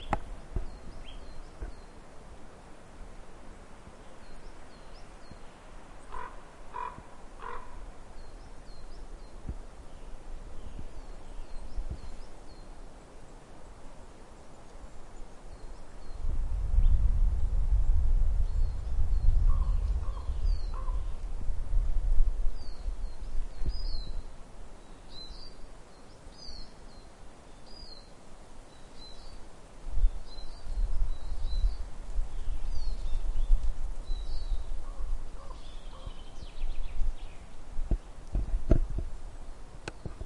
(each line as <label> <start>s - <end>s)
birds singing 0.0s - 2.0s
wind in the trees 0.0s - 40.2s
birds singing 4.0s - 12.8s
birds singing 18.4s - 21.2s
birds singing 22.6s - 28.1s
birds singing 28.7s - 29.4s
birds singing 30.0s - 38.2s